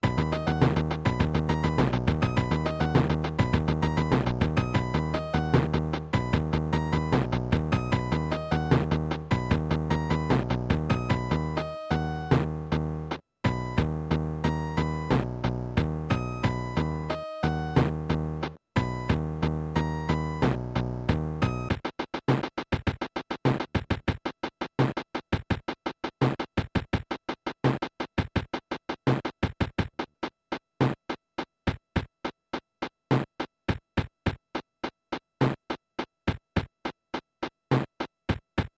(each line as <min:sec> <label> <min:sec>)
0:00.0 accompaniment section from a cheap kids keyboard 0:24.3
0:00.0 percussion only version 0:38.7